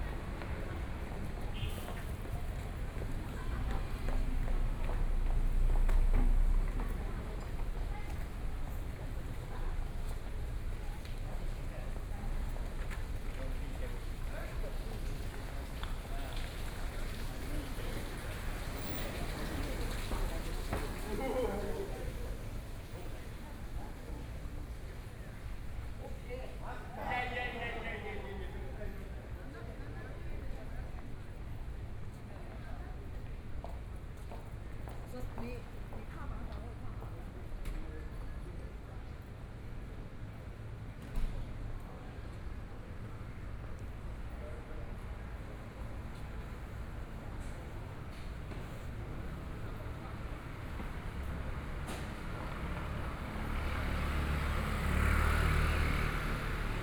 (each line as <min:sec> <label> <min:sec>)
0:00.0 walking in the Street 0:56.8